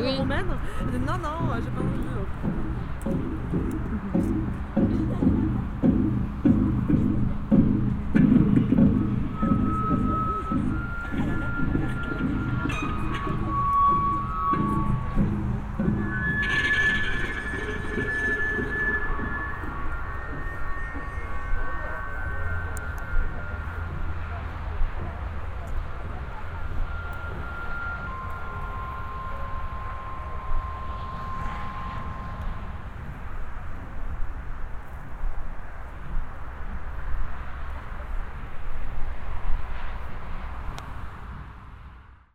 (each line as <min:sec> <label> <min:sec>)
0:00.0 people talking 0:06.0
0:00.0 improvised sound installation 0:35.1
0:08.5 people talking 0:15.6
0:17.0 people talking 0:29.8